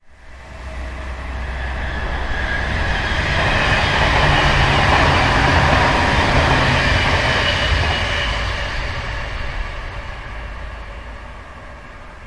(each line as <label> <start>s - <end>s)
electric train passing at high speed 0.0s - 12.2s